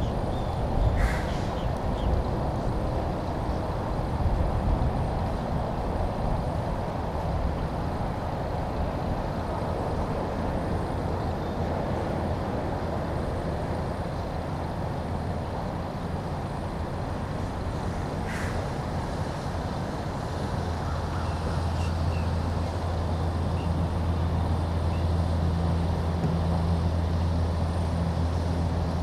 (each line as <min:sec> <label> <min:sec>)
0:00.0 trucks 0:29.0
0:00.0 birds 0:02.3
0:20.6 birds 0:22.4